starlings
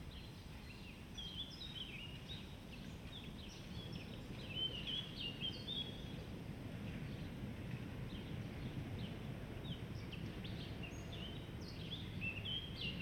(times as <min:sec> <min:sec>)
0:08.1 0:13.0